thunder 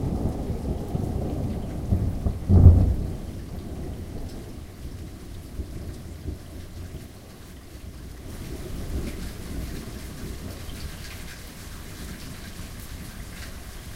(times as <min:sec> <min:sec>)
0:00.0 0:06.5